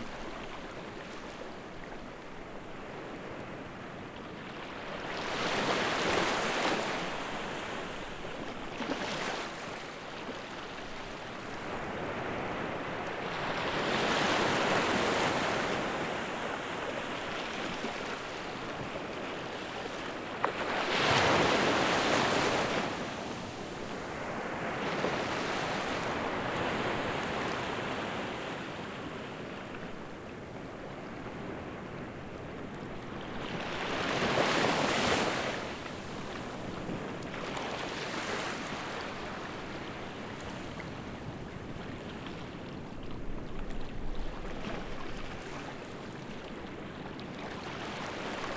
0.0s Ocean 48.5s

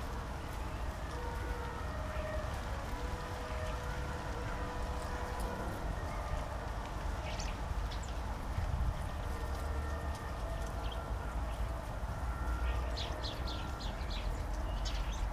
12.9s flock of starlings browsing around me 15.3s

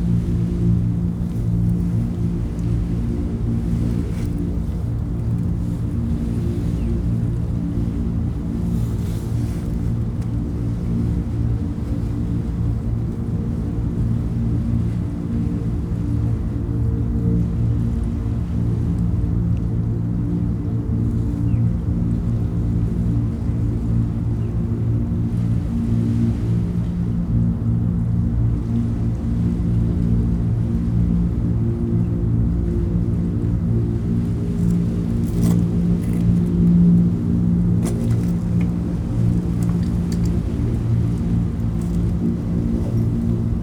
0.0s waves 43.6s

